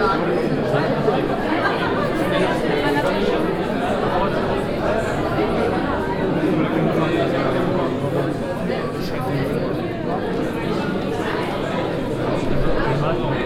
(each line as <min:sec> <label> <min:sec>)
0:00.0 crowded with visitors 0:13.4